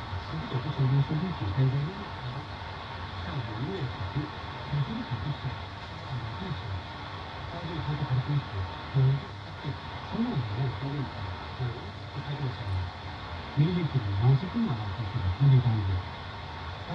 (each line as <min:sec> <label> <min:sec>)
0:00.0 Faint radio broadcast 0:16.9
0:00.0 signal hiss 0:16.9